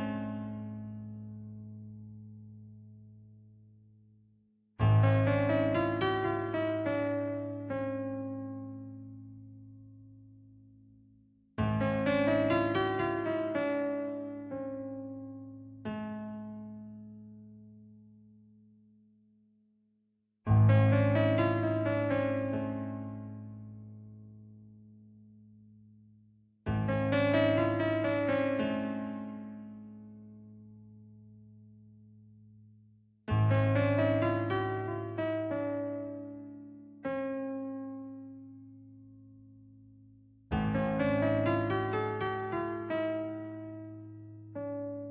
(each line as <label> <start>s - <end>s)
piano 0.0s - 19.8s
piano 20.4s - 45.1s